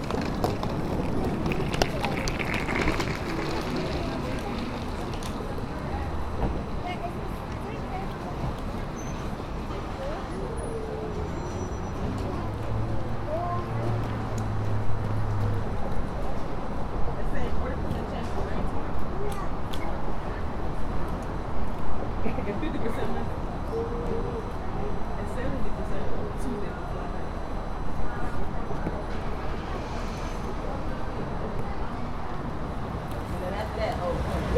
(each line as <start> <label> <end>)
0.0 cars move from left to right 19.7
0.0 People are heard walking by with their luggage 34.5
20.3 cars move from left to right 34.5